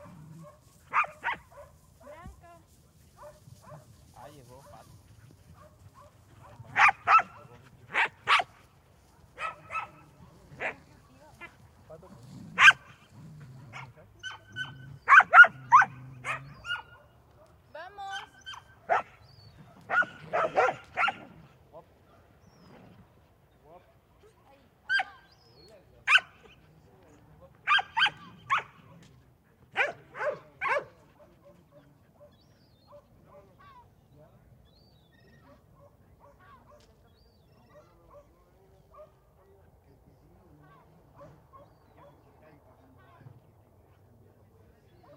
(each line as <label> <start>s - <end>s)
Dogs barking 0.0s - 1.8s
dogs are running and playing 0.0s - 45.1s
humans also call the dogs and talk 0.0s - 45.1s
Dogs barking 3.2s - 3.9s
Dogs barking 5.5s - 8.6s
Dogs barking 9.4s - 10.8s
Dogs barking 12.5s - 13.0s
Dogs barking 13.7s - 17.5s
Dogs barking 18.1s - 21.4s
Dogs barking 26.1s - 26.6s
Dogs barking 27.6s - 28.8s
Dogs barking 29.7s - 33.6s
Dogs barking 37.6s - 39.2s